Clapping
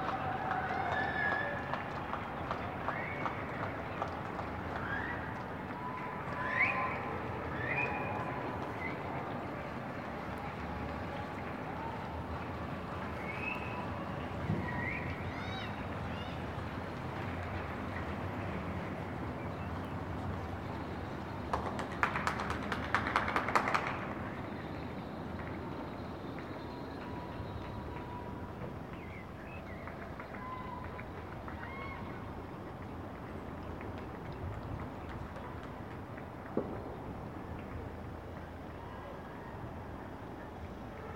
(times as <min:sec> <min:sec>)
0:00.0 0:07.1, 0:10.0 0:13.3, 0:21.4 0:24.4, 0:25.3 0:39.8